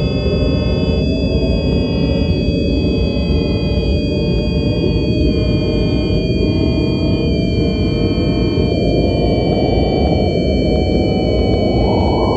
space noises 0:09.0 - 0:12.3

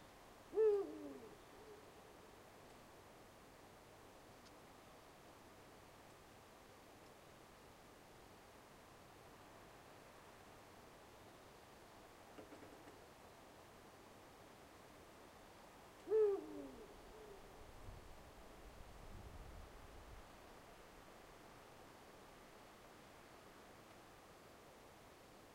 european Eagle-Owl 0:00.5 - 0:02.3
european Eagle-Owl 0:16.0 - 0:17.6

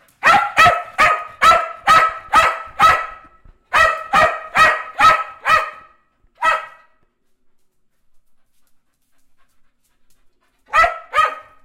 Cocker-Spaniel Dog barking 0:00.2 - 0:07.0
Cocker-Spaniel Dog barking 0:10.7 - 0:11.6

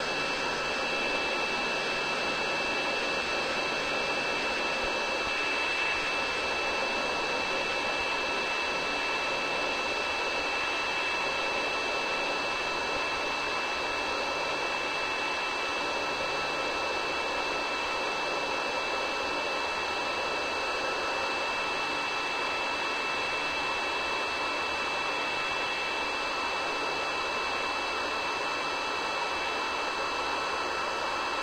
airplane 0:00.0 - 0:31.4

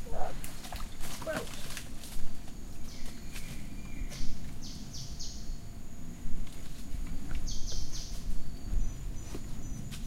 miscellaneous rainforest creatures 0:00.0 - 0:04.4
birds 0:00.0 - 0:10.0
insects 0:00.0 - 0:10.0

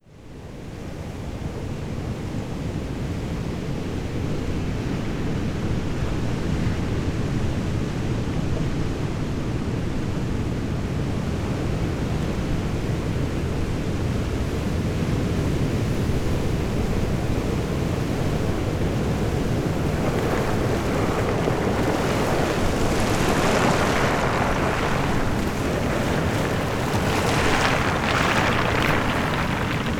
waves move pebbles 0:16.2 - 0:29.9

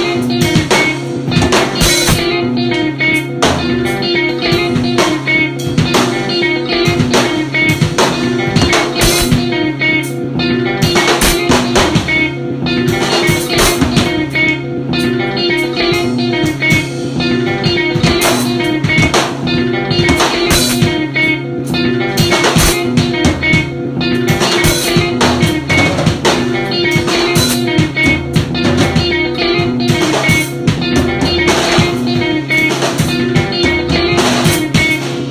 guitar 0:00.0 - 0:35.3

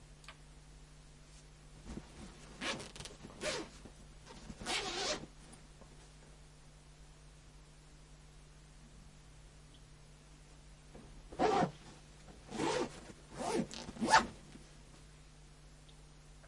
Unzipping and zipping a medium sized soft laptop case 0:02.6 - 0:05.3
Unzipping and zipping a medium sized soft laptop case 0:11.4 - 0:11.8
Unzipping and zipping a medium sized soft laptop case 0:12.5 - 0:14.4

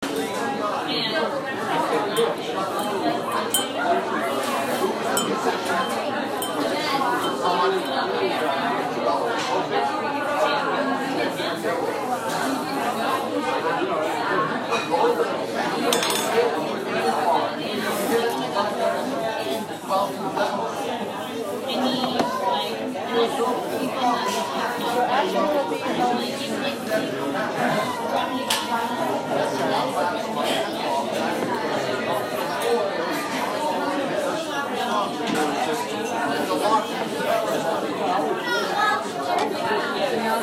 people talking 0:00.0 - 0:40.4
dishes clinking 0:02.1 - 0:03.9
dishes clinking 0:05.1 - 0:07.5
dishes clinking 0:15.9 - 0:16.4

